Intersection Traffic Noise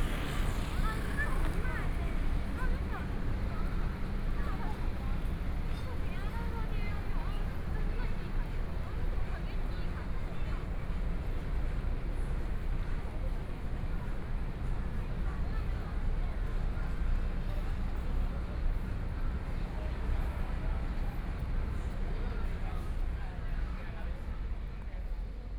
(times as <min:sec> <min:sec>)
0:00.0 0:15.2